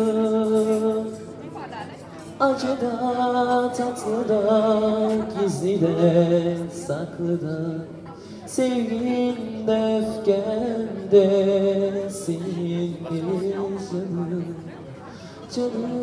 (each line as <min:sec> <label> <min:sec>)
0:00.0 Happy Birthday and other Turkish music 0:16.0